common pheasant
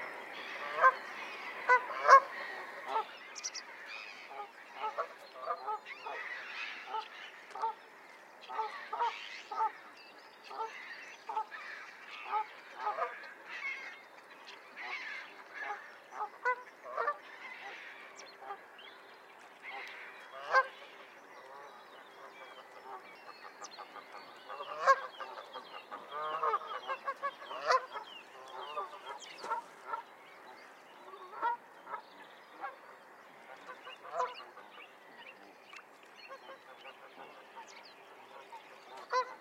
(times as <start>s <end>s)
0.0s 7.8s, 19.6s 39.4s